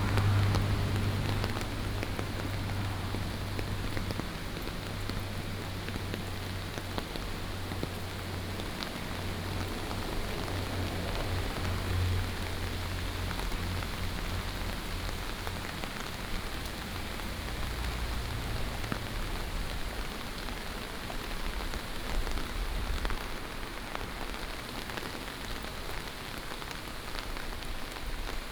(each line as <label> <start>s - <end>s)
water streams 0.0s - 28.5s